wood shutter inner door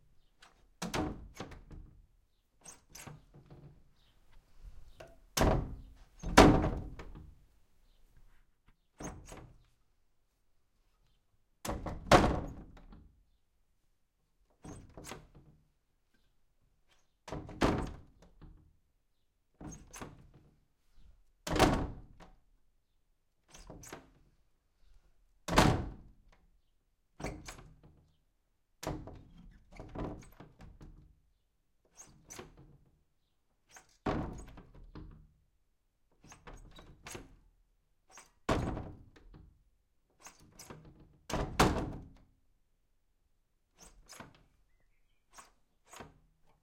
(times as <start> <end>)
0.2 7.4, 8.8 9.8, 11.6 13.3, 14.5 16.2, 16.8 18.8, 19.5 20.7, 21.4 22.5, 23.4 24.4, 25.5 28.2, 28.8 31.2, 31.8 33.0, 33.6 35.4, 36.0 37.5, 38.1 42.4, 43.7 46.6